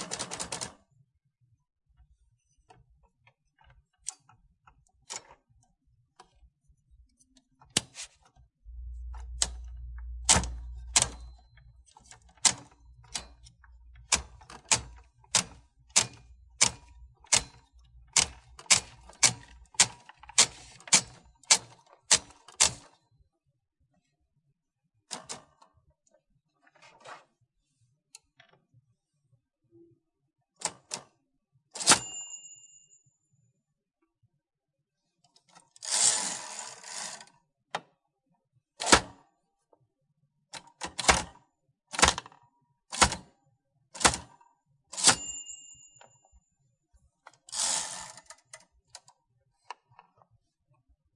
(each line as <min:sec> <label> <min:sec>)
0:00.0 Typing at different speeds 0:00.8